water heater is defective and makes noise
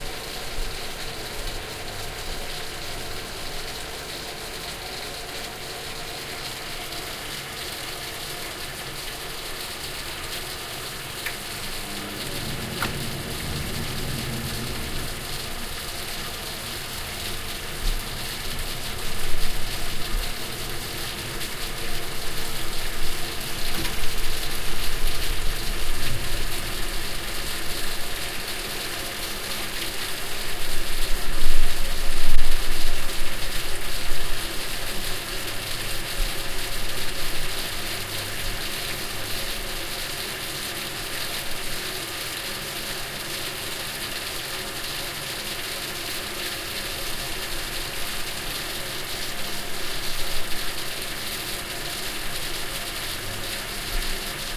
0.0 40.4

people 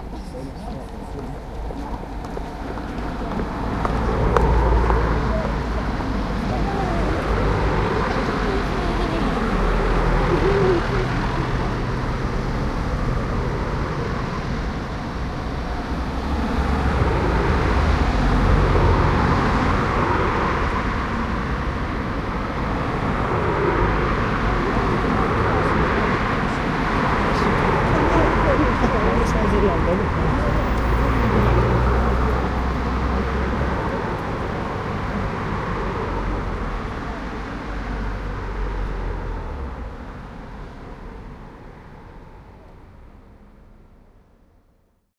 0.0 12.6, 23.1 39.0

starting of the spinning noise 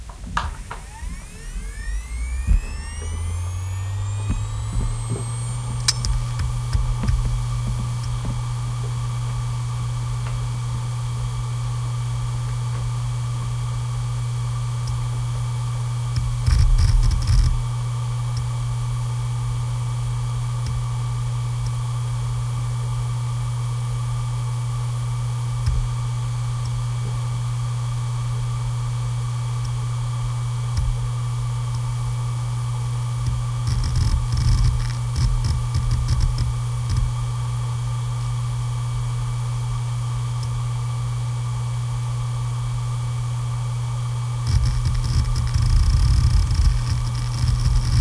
0.0 11.2, 33.2 37.1, 44.4 48.0

